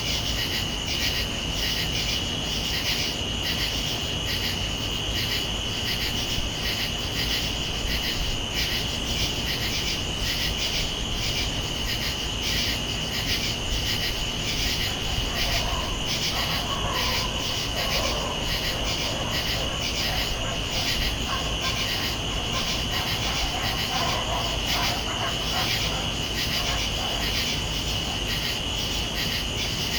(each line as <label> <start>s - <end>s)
AC fan hum 0.0s - 29.9s
cicadas 0.0s - 29.9s
crickets 0.0s - 29.9s
passing traffic 14.2s - 27.3s
dogs 14.3s - 28.6s